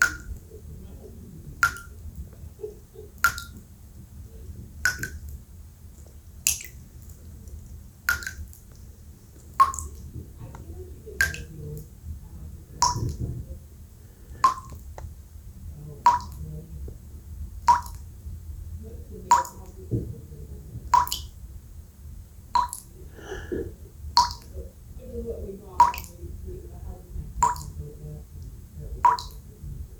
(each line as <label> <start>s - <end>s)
bathtub dripping 0.0s - 29.9s